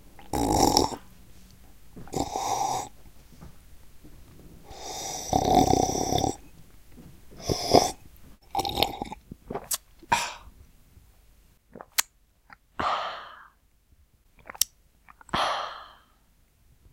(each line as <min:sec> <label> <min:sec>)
0:00.2 sipping 0:10.5